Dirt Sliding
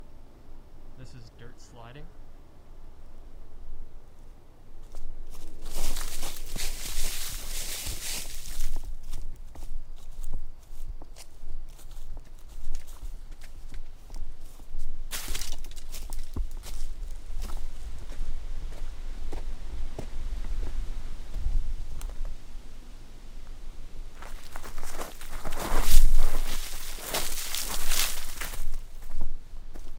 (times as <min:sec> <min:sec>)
0:04.8 0:09.2, 0:23.4 0:29.9